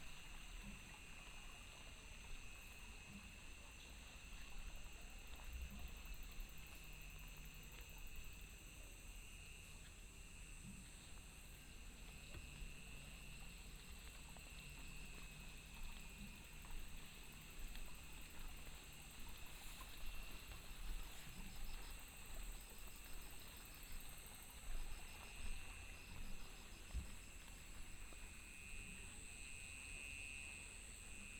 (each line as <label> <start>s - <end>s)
insects 0.0s - 31.3s